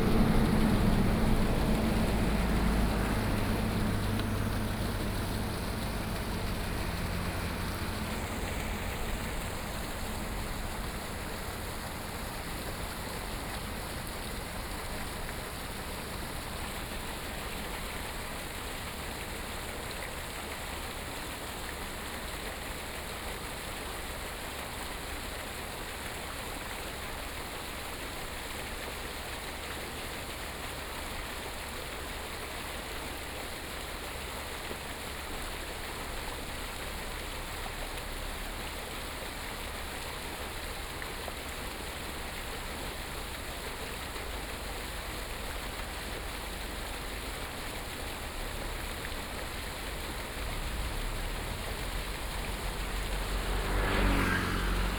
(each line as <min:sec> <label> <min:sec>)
0:00.0 Traffic Sound 0:18.0
0:00.0 waterwheel sound 0:54.9
0:35.7 Traffic Sound 0:54.9